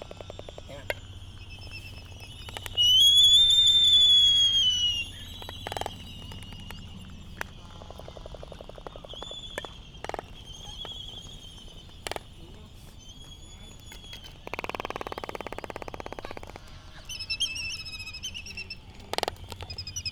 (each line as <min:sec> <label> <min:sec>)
0:00.0 Laysan albatross dancing 0:20.1
0:00.0 canary 0:20.1
0:00.0 traffic 0:20.1
0:00.0 voices 0:20.1